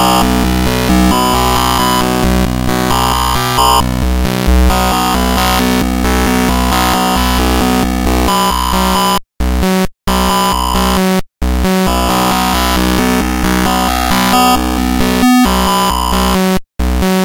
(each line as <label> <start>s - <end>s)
Evolving sound made with glitch machine 3.0s - 6.6s